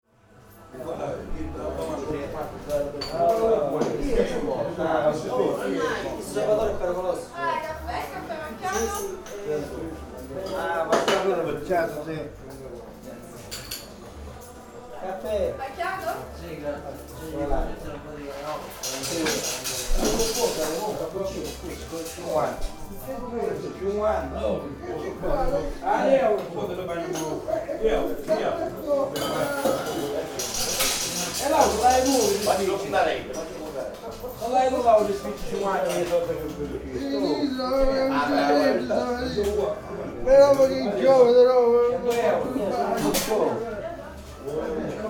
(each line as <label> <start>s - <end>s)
people 0.6s - 45.0s